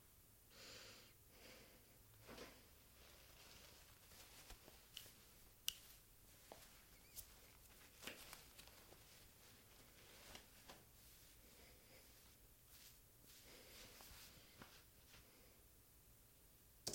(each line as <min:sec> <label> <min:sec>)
0:02.2 tying and ruffling hair 0:11.4